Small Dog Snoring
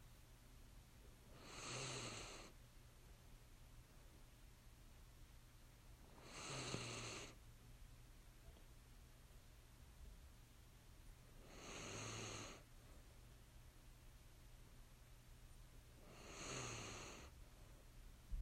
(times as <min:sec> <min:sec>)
0:01.3 0:02.6, 0:06.1 0:07.4, 0:11.4 0:12.7, 0:16.0 0:17.4